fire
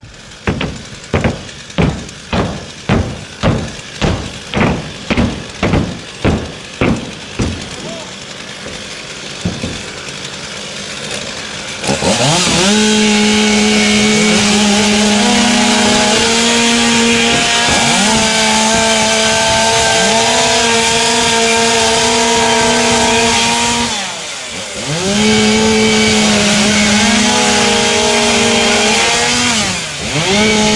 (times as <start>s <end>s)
0.0s 12.1s